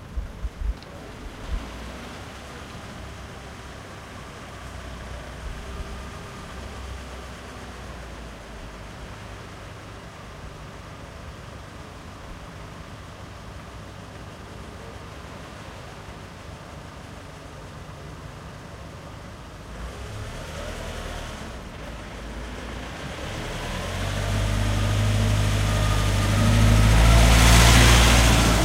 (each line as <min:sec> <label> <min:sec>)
0:00.0 passage of a truck that collects the waste 0:28.6
0:25.4 waves 0:28.6